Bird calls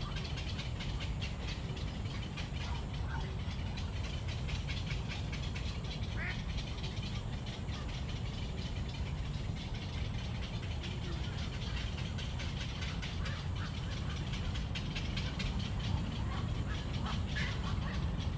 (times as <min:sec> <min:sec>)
0:10.3 0:18.3